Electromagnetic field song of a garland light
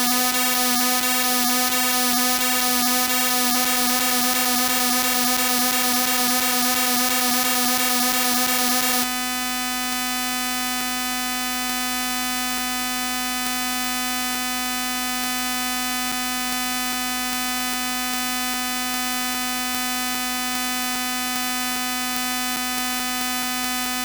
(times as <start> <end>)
0.0 9.1